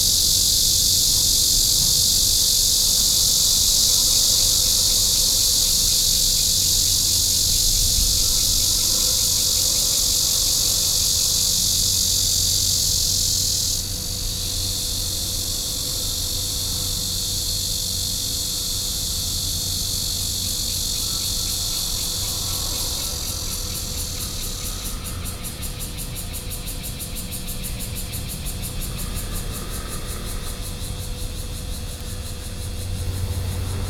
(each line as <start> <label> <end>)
0.0 Cicadas cry 33.8